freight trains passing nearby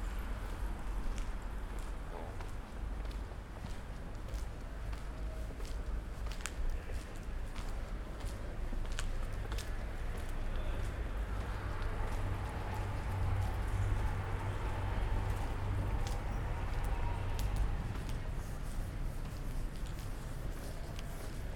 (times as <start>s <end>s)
9.8s 21.5s